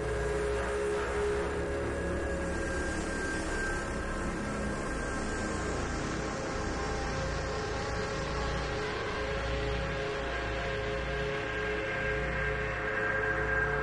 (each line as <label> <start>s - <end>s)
Drone 0.0s - 13.8s